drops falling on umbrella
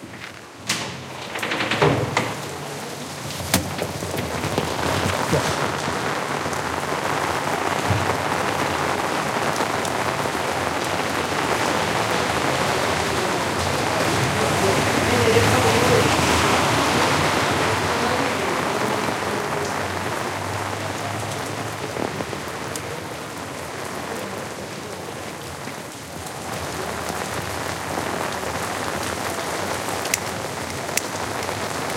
0:02.4 0:11.4

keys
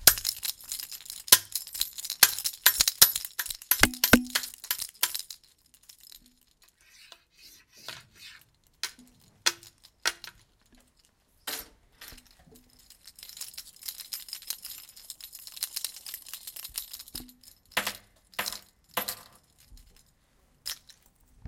0:00.0 0:06.7, 0:12.0 0:21.4

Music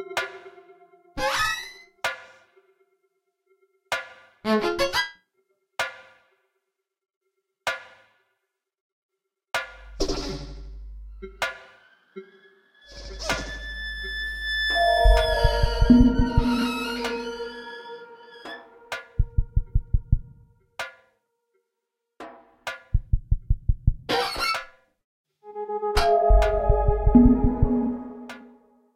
0:00.0 0:06.5, 0:09.6 0:21.2, 0:25.4 0:28.9

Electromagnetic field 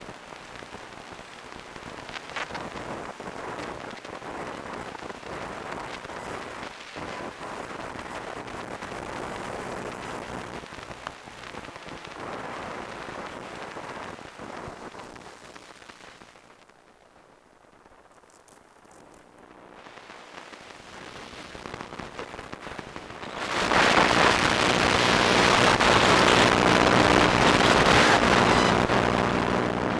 0:20.8 0:29.9

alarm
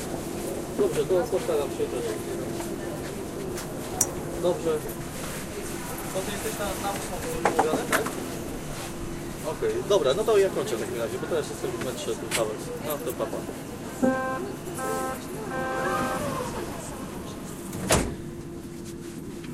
0:14.0 0:16.5

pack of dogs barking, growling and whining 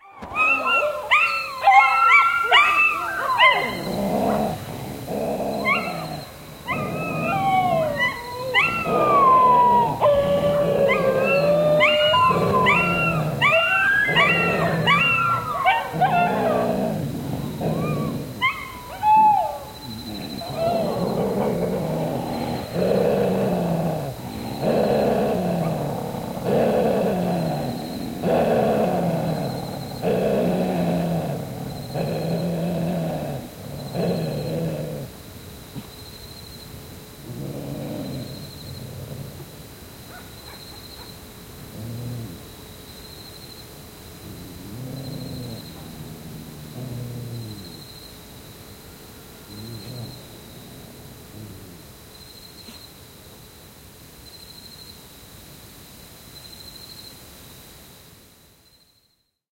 0:00.0 0:35.1, 0:37.2 0:42.5, 0:44.2 0:47.9, 0:49.5 0:51.9

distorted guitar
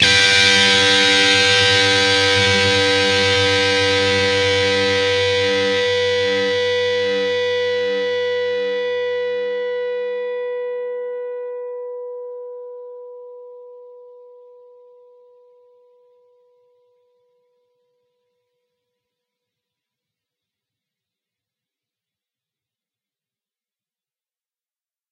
0:00.0 0:14.8

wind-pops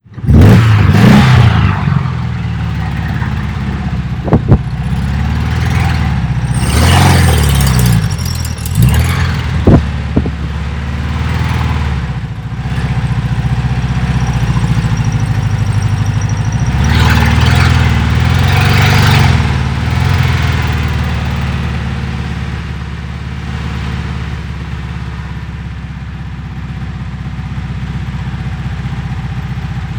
0:04.2 0:04.9

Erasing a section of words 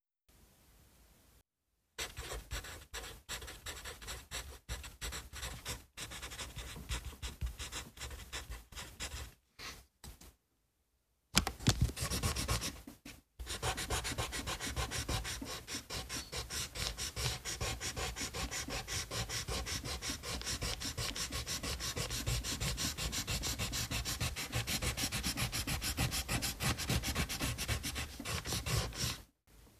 0:13.4 0:29.2

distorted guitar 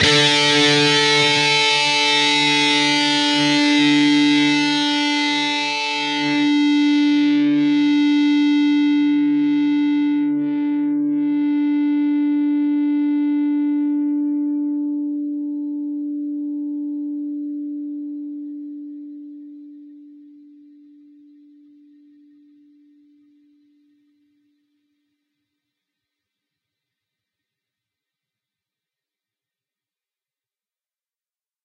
0:00.0 0:17.1

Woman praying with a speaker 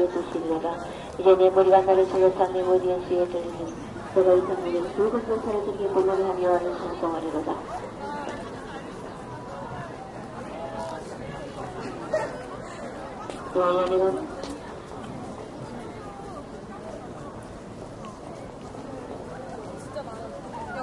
0:00.0 0:08.4, 0:11.2 0:14.7

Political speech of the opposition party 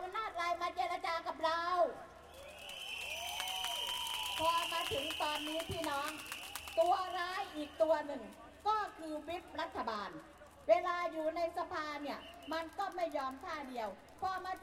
0:04.3 0:14.6

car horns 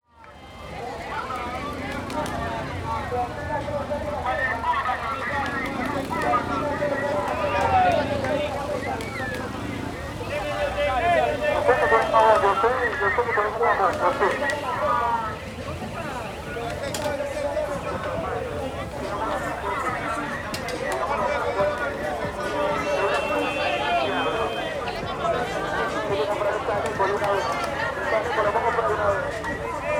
0:17.0 0:20.2, 0:22.6 0:24.8

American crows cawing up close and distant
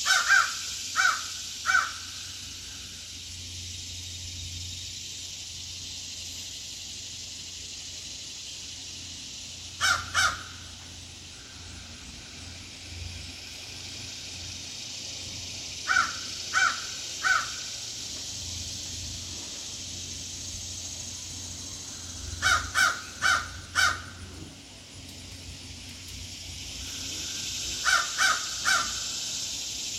0:00.0 0:02.9, 0:09.8 0:12.0, 0:15.8 0:17.8, 0:21.8 0:24.3, 0:26.8 0:29.5

